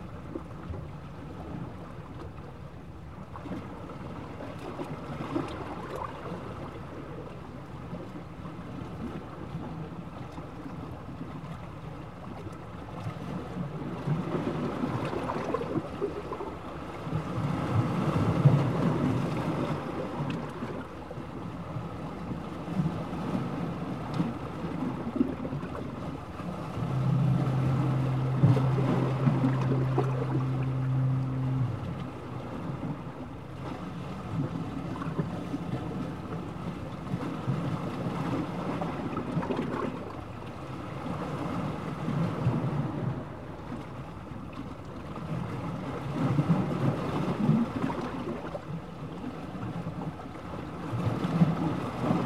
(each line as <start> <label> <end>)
0.0 sound of the sea and waves 52.2
3.2 Sea bubbles 43.8
25.6 fog horn sounding at intervals 38.8
44.5 Sea bubbles 52.2